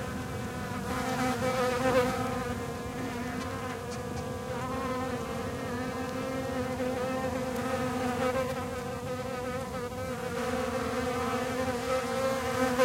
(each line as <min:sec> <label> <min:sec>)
0:00.0 buzz of solitary bees foraging 0:12.8